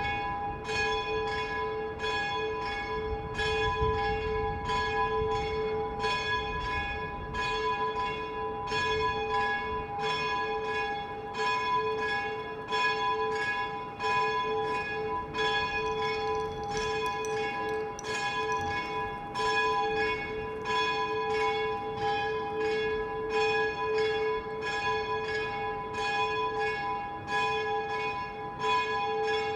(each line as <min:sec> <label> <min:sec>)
0:00.0 Church Bells 0:29.5
0:14.6 Light wind 0:23.4